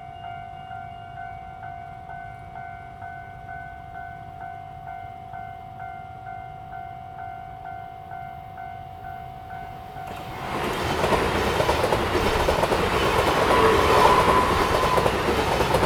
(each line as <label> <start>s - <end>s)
The train runs through 0.0s - 15.8s
railroad crossing 0.0s - 15.8s
Traffic sound 10.0s - 15.8s